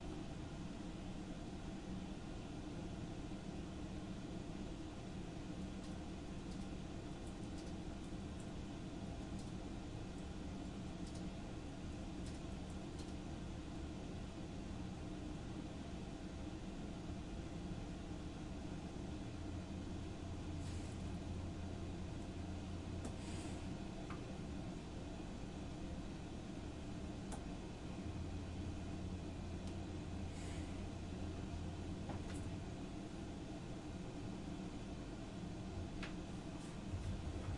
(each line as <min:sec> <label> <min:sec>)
0:03.3 computer 0:15.3
0:05.8 somebody quietly typing 0:08.6
0:09.2 somebody quietly typing 0:10.3
0:10.9 somebody quietly typing 0:11.4
0:12.1 somebody quietly typing 0:13.3
0:25.5 computer 0:29.9